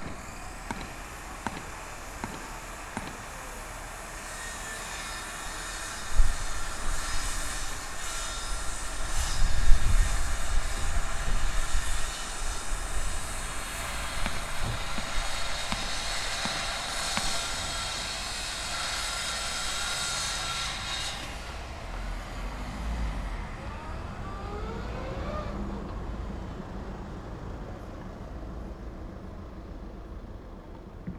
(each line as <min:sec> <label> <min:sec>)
0:00.0 passengers 0:04.3
0:00.0 machines 0:31.1
0:00.0 workers 0:31.1
0:05.2 passengers 0:18.8